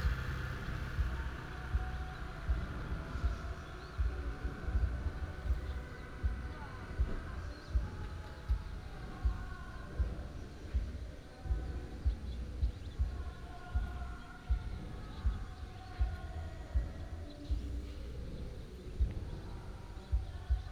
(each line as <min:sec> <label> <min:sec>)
0:00.0 Traffic sound 0:16.1
0:00.0 Karaoke 0:20.7